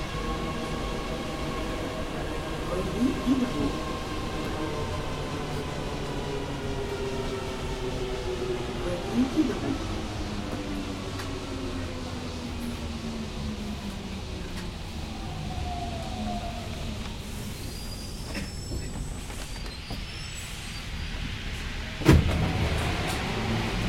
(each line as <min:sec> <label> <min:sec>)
0:00.0 Parisian Metro 0:23.8